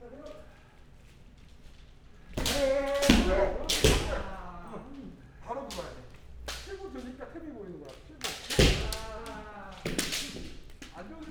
bamboo swords 2.3 - 7.2
bamboo swords 7.9 - 11.3

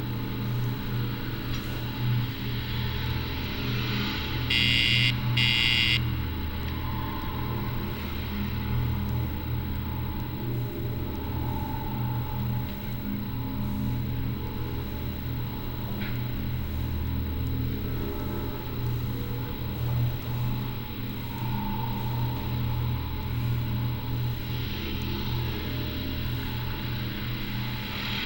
security hassle 4.5 - 6.0

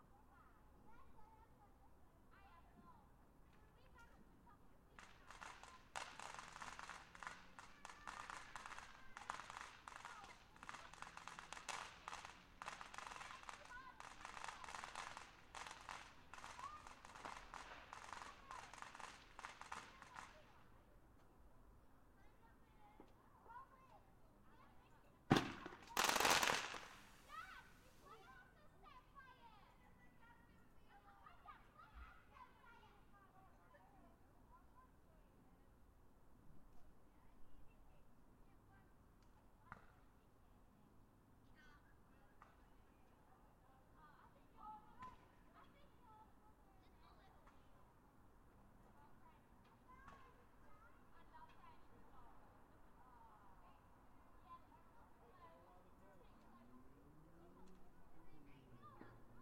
people 0.0 - 21.3
bnfire 3.5 - 21.4
fireworks 4.9 - 20.6
people 22.2 - 35.6
bnfire 25.2 - 28.5
fireworks 25.3 - 28.0
people 41.4 - 59.4

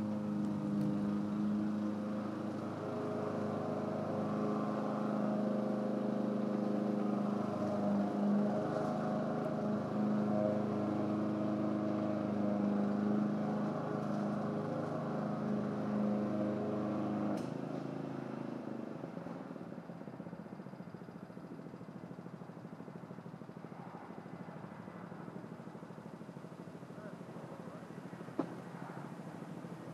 grass cutting machine 0.0 - 21.1
bicycle 0.0 - 29.9
cars 0.0 - 29.9

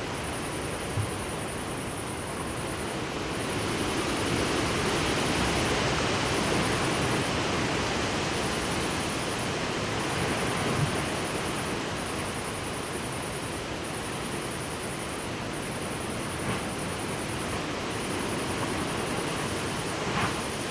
wind in tent 0.0 - 20.7

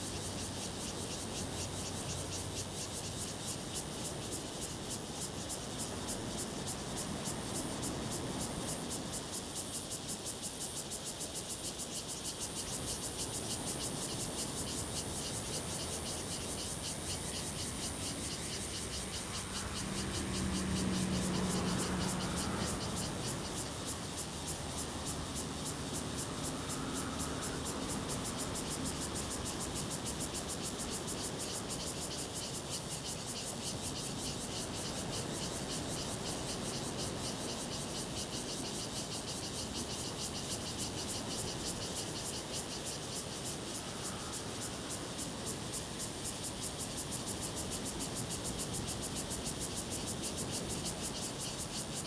Cicadas sound 0.0 - 52.0
Traffic Sound 17.2 - 29.5
Sound of the waves 17.7 - 31.1

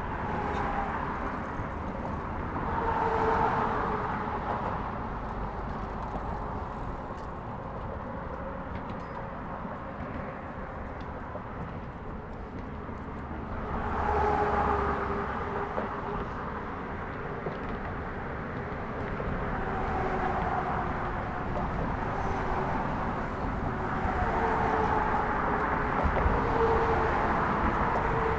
Bridge traffic 0.0 - 28.3

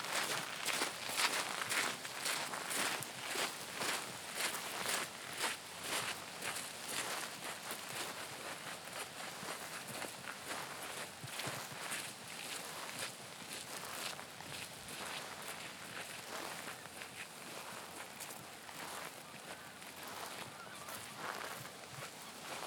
walking meditation 0.0 - 22.6

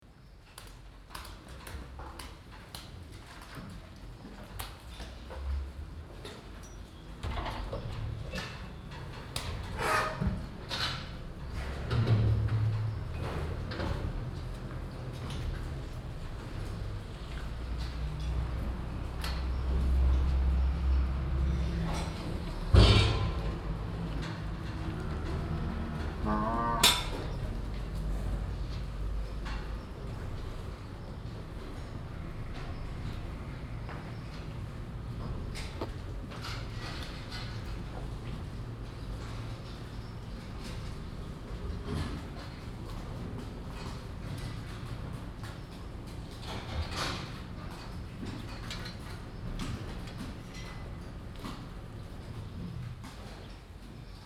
cows moving inside their boxes 0.1 - 54.2
mooing 25.7 - 27.3

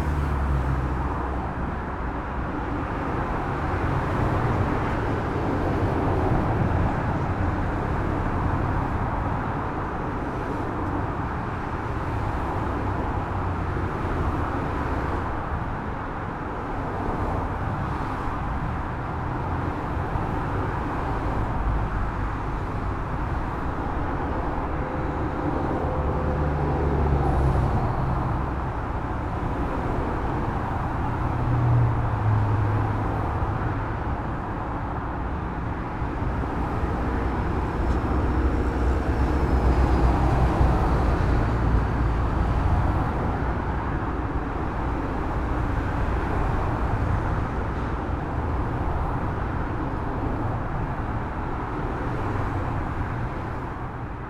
Heavy traffic in one direction 0.0 - 54.2

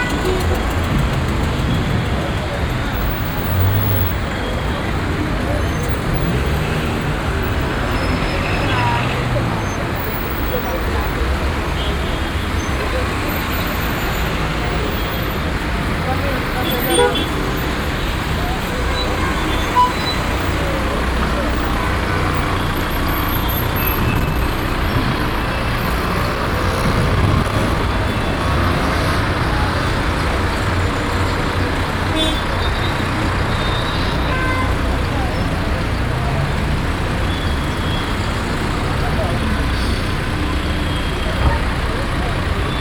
dense street traffic 0.0 - 42.8

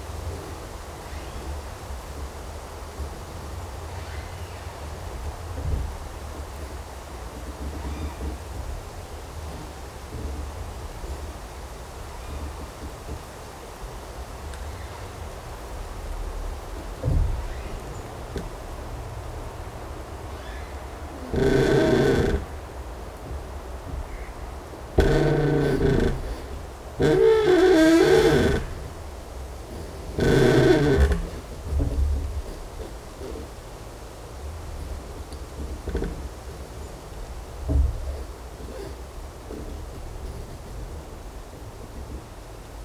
Creaking tree 0.0 - 42.8

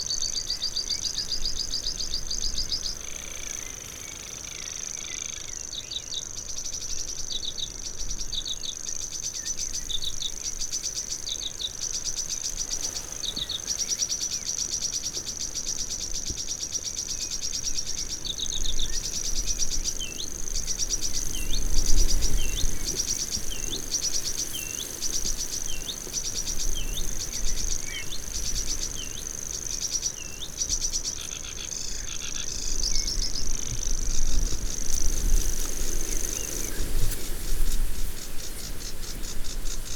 bird song from grasshopper warbler 0.0 - 39.9
sedge warbler 16.8 - 39.9

